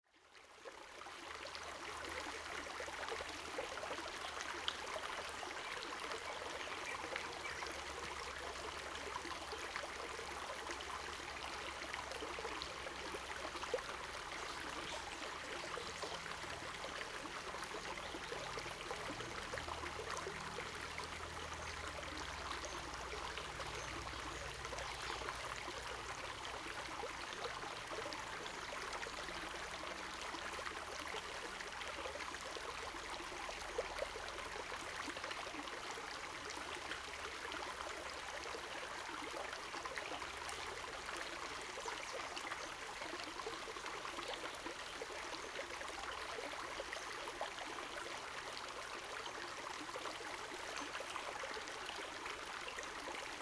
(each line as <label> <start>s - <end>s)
water streams 0.5s - 53.4s